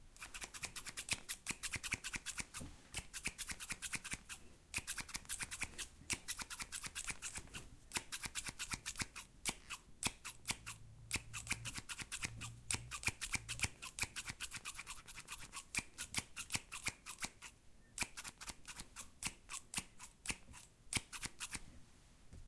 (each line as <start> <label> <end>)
0.2 Scissors cutting at a fast pace 21.6